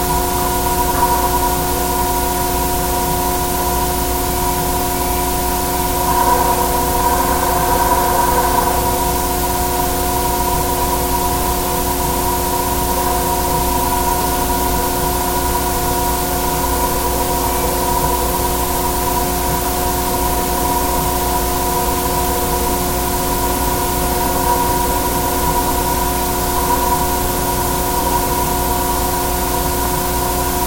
construction noise 4.6 - 11.2

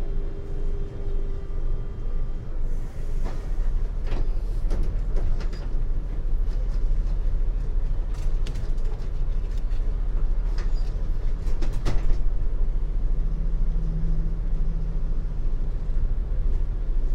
streetcar ride 0.0 - 17.1

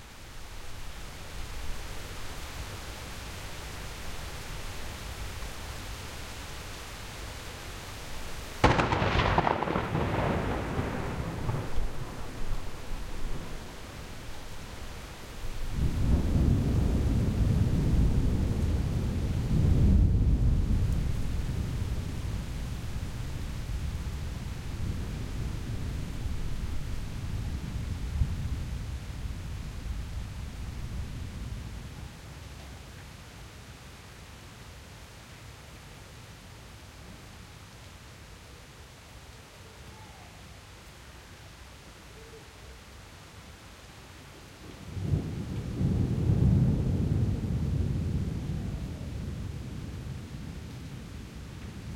rain 0.0 - 51.9
thunder 8.6 - 13.8
thunder 15.6 - 22.8
thunder 44.8 - 51.1

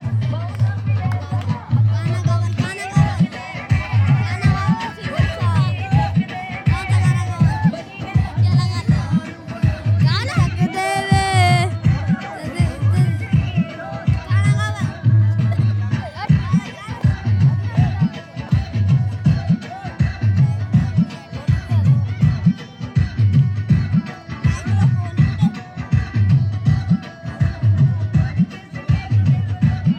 sing a song 0.0 - 29.9

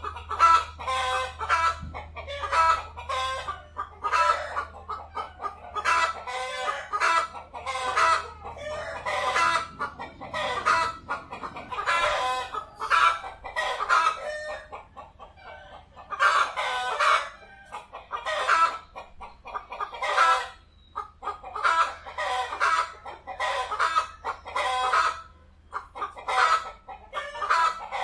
chicken fly 0.0 - 14.8
chickens sing together 0.0 - 28.0

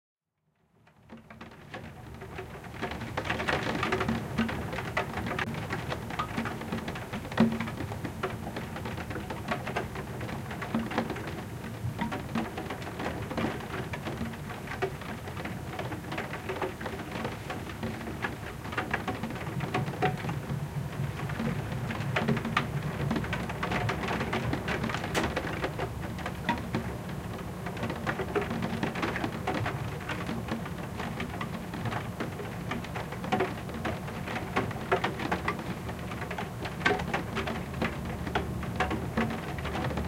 RAIN ON SKYLIGHT OR WINDOW 0.5 - 40.0

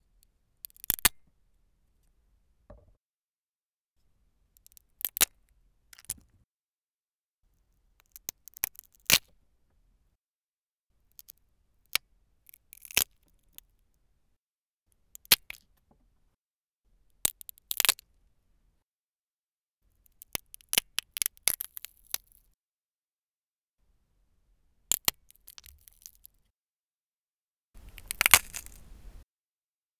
cracking walnuts with a walnut cracker 17.3 - 18.0
cracking walnuts with a walnut cracker 24.9 - 26.3
cracking walnuts with a walnut cracker 27.8 - 29.2

